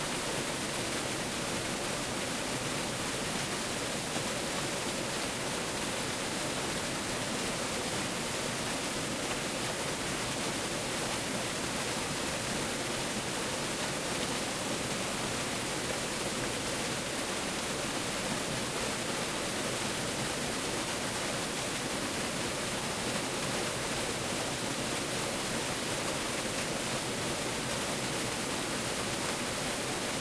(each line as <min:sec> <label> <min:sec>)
0:00.0 Waterfall 0:30.2